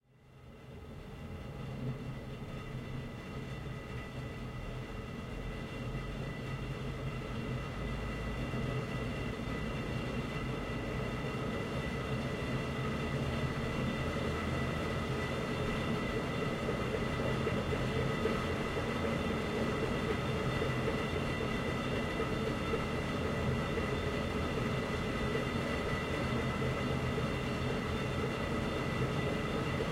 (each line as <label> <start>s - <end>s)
Funicular cable car 0.1s - 29.9s